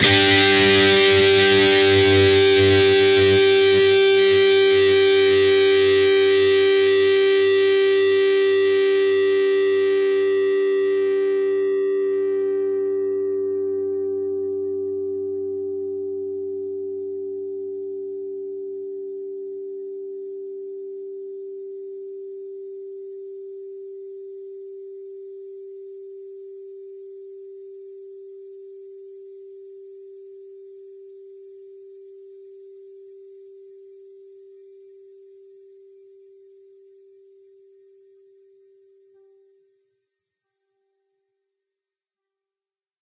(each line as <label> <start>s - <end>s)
distorted guitar 0.0s - 17.8s